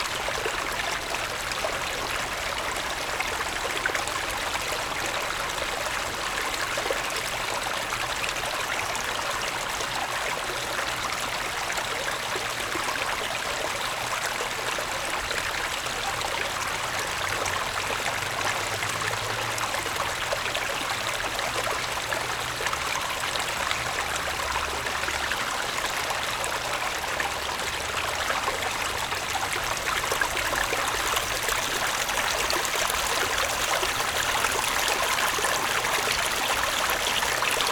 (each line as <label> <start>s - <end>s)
Water sound 28.1s - 37.7s